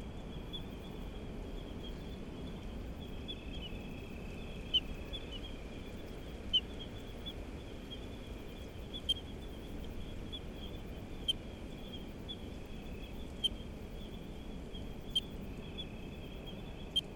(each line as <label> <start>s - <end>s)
Night cicadas 0.0s - 17.1s
ocean 0.0s - 17.1s
other creatures of the night 0.0s - 17.1s